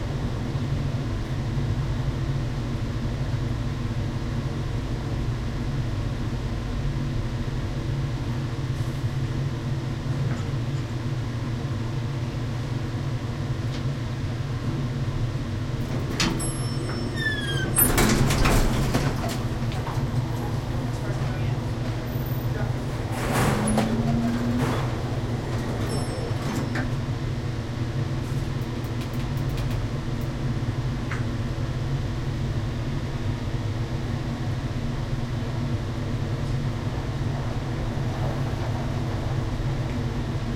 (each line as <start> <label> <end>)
7.8 elevator ride 40.5
15.8 doors open close 27.2
17.6 heavy ventilation 40.5